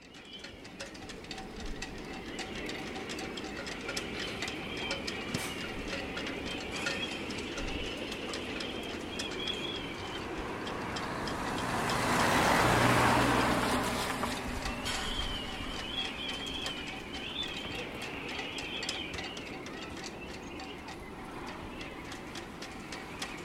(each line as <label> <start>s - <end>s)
car drives by 10.2s - 16.1s